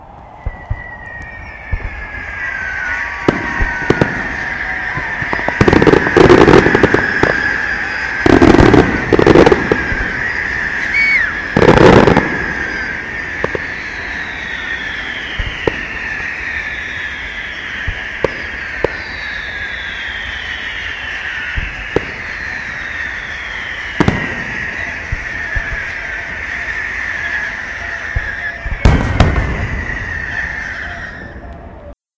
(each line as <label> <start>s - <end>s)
firework explosion 0.0s - 31.9s
cheer 0.0s - 32.0s
distant crowd whistling 0.0s - 32.0s